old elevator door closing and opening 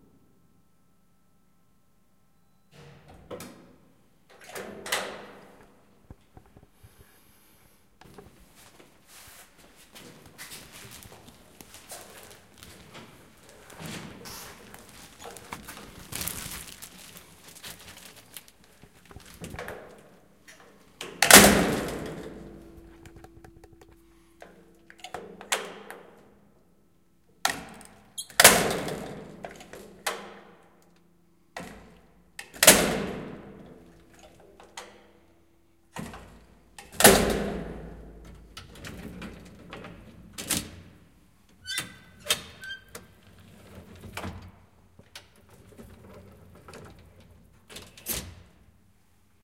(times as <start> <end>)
21.0 23.7